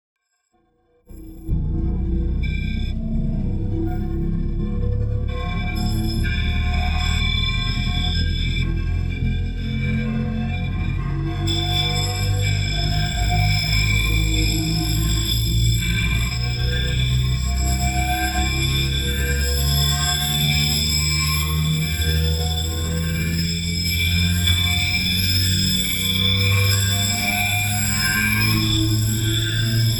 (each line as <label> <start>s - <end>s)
drone 1.1s - 29.9s